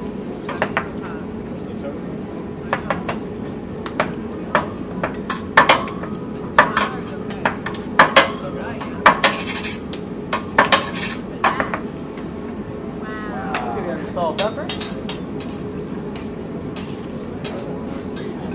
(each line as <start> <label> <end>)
0.0 distant background cooking 18.5
4.6 teppanyaki knife and spatula sounds 11.6
13.8 flames 18.5
14.0 teppanyaki knife and spatula sounds 18.4